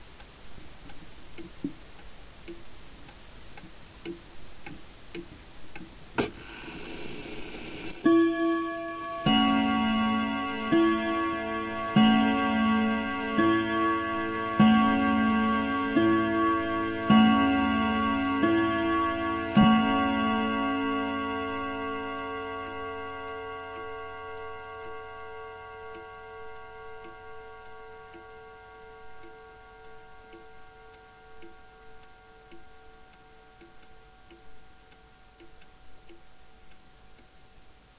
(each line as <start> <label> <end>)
8.1 wall clock beats 5 o'clock with brass hammers on steel strings 36.1